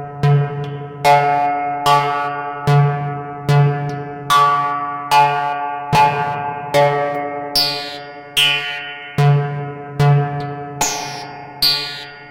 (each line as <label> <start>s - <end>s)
Oscillator going through a heavily modulated filter 7.6s - 12.3s